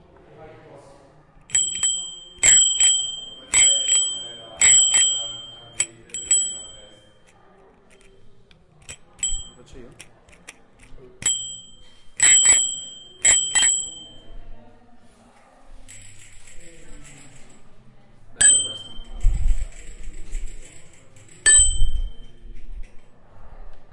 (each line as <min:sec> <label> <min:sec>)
0:01.5 bell 010 metallic 0:08.2
0:08.8 bell 010 metallic 0:09.8
0:11.2 bell 010 metallic 0:14.4
0:18.4 bell 010 metallic 0:22.6